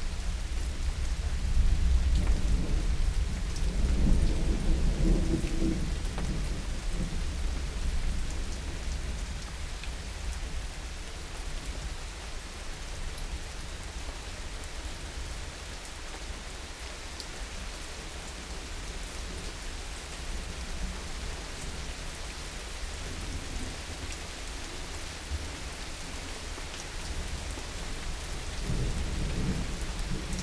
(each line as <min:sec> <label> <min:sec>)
0:00.0 Summer Rain 0:30.4